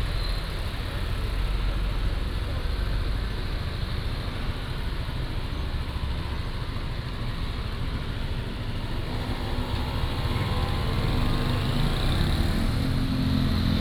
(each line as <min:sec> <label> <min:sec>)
0:08.6 Traffic Sound 0:13.8